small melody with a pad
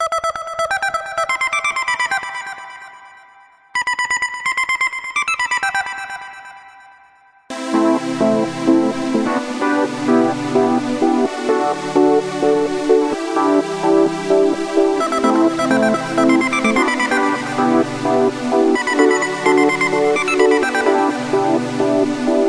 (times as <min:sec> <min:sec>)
0:07.5 0:22.4